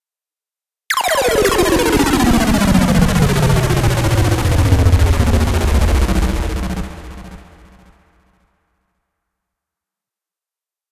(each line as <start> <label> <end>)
0.9 riser 7.9